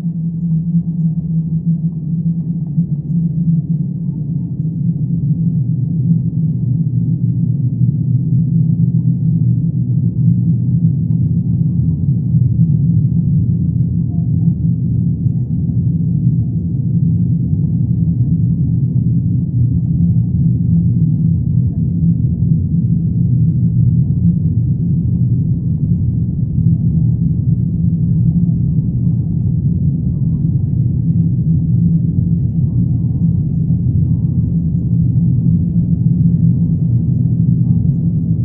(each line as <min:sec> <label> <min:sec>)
0:12.7 drone 0:38.4